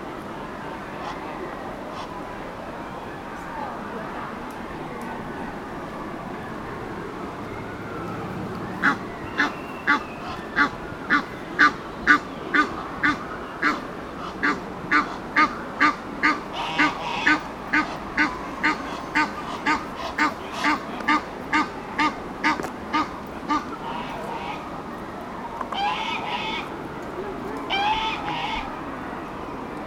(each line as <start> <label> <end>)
0.0 egyptian gooses on a pontoon 29.8
0.9 emden goose 2.3
8.6 emden goose 24.8
25.6 emden goose 29.8